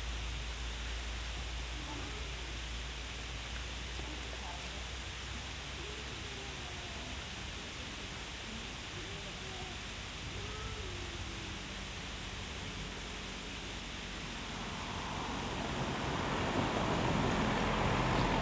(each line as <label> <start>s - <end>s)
wind in trees 0.0s - 18.4s